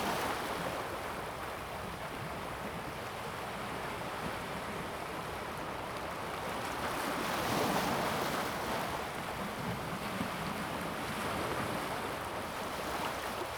Stream to the sea 0.0 - 13.5
waves 3.0 - 13.5

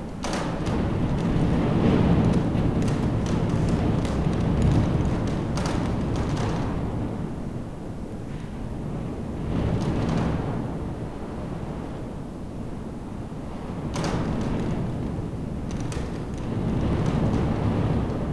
confessional box rattling in draft 0.2 - 7.0

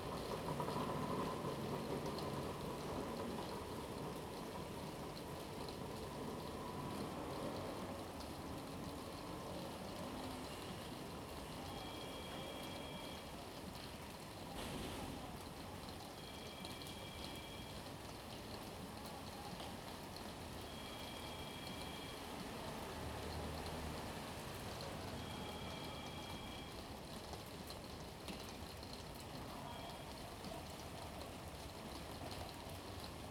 Rain 0.0 - 33.3

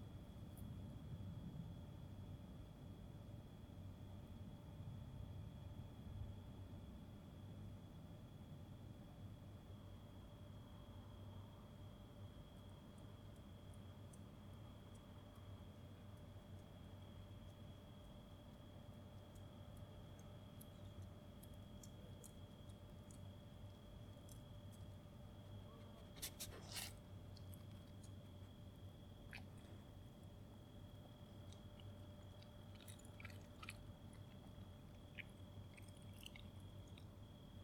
rats, as they get inside and outside the bushes 11.0 - 37.6
chewing 14.8 - 25.1
chewing 25.7 - 28.6
chewing 29.2 - 30.2
chewing 30.9 - 37.3

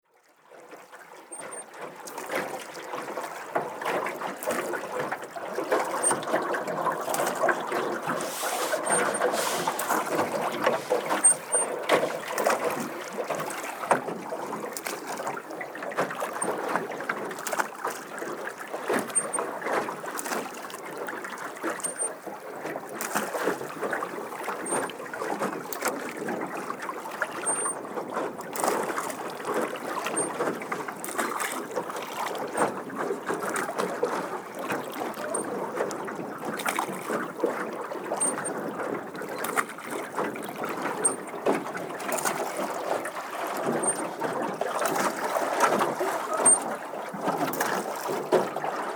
paddeln 7.9 - 11.8

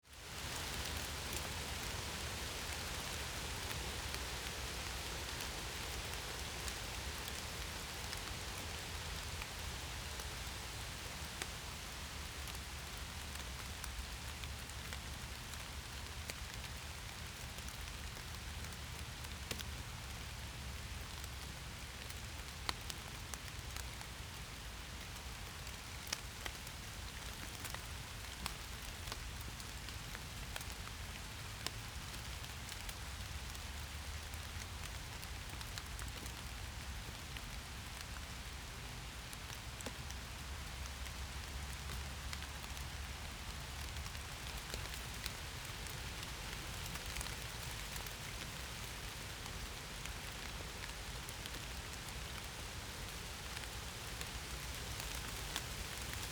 rain and wind on oak and birch leaves 0.0 - 56.3

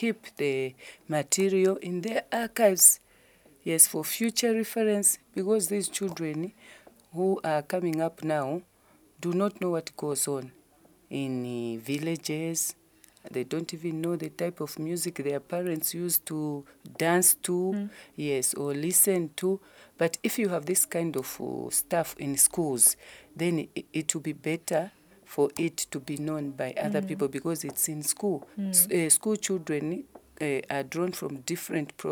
She talks 17.6 - 17.9
She talks 26.8 - 27.3
She talks 28.6 - 29.0

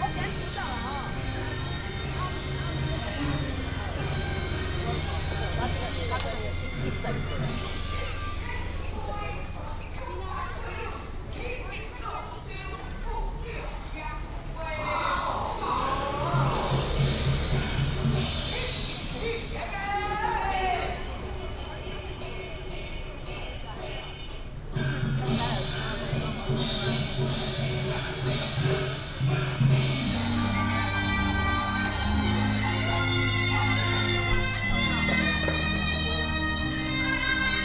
Traffic sound 0.0 - 37.6
Walking in the area of the temple 0.0 - 37.6
Taiwanese traditional opera 14.7 - 21.3
Taiwanese traditional opera 24.8 - 37.6

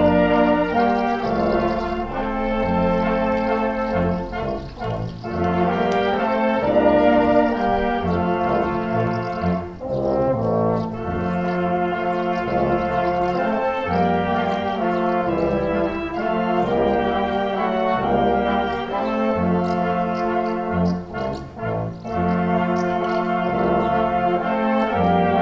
Brass band during the funeral ceremony 0.0 - 25.4

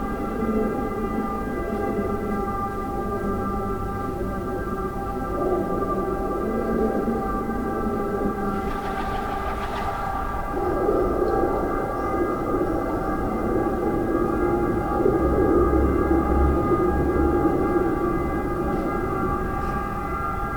siren sounds 8.5 - 11.5

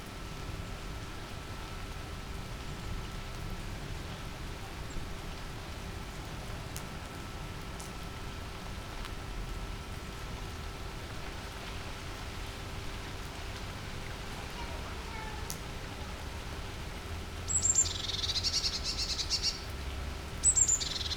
rain drops sliding from leaves 0.8 - 21.1
bird calls 17.5 - 19.7
bird calls 20.4 - 21.1

